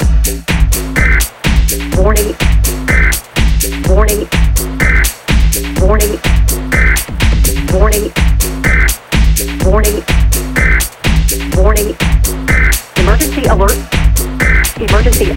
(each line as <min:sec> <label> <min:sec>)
0:00.0 Techno beat 0:15.3